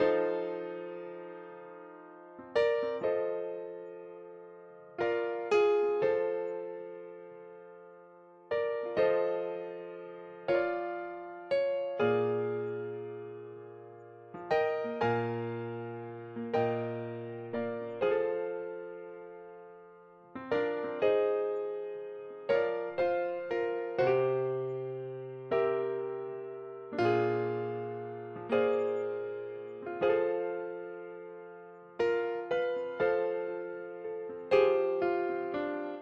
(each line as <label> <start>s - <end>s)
Piano 0.0s - 36.0s